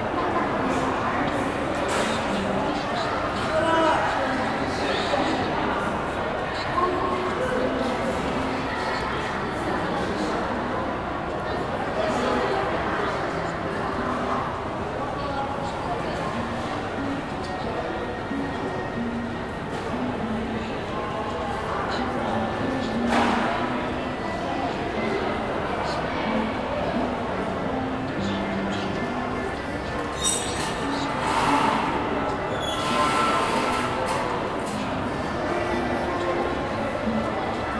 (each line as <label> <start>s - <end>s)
Crowd 0.0s - 37.7s